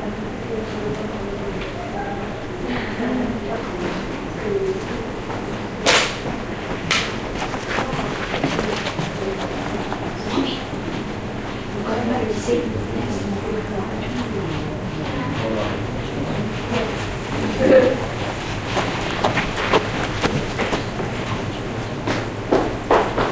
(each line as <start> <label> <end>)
0.0 voices 22.2
0.0 noise there is from heating and extraction systems 23.3
3.8 footsteps 12.0
6.2 racing down the stairs 23.3
14.0 footsteps 23.3